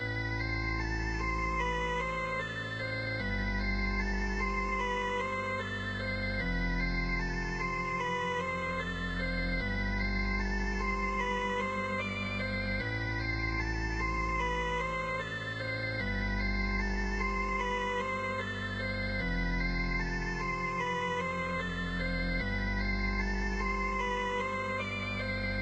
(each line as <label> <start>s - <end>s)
organ-like synth loop 0.0s - 25.6s